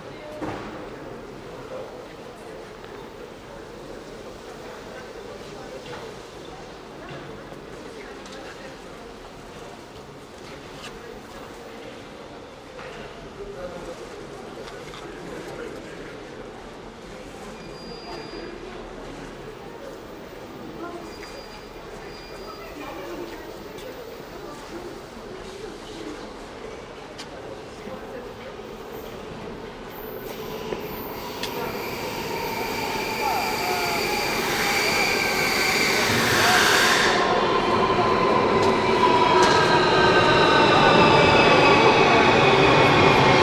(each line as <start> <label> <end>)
0.0 people are actively walking 34.5
0.0 people talking on the platform 43.4
16.1 the train leaves 43.4
28.9 the train pulls up 43.4